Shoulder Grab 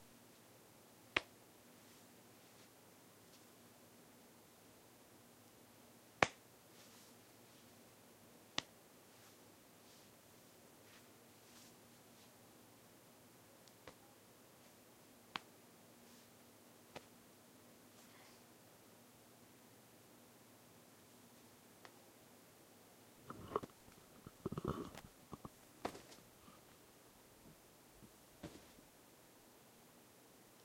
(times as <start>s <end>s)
23.3s 26.6s, 28.4s 28.8s